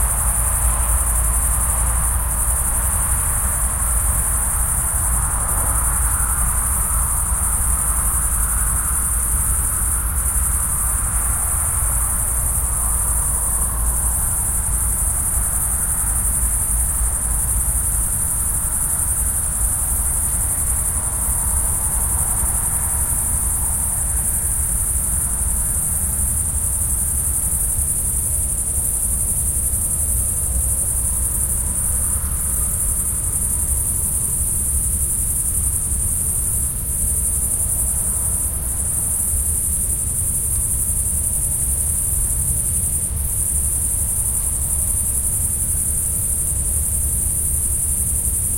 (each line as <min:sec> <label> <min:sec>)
0:00.0 cicadas 0:48.5
0:00.0 crickets 0:48.5
0:00.0 distant traffic 0:48.5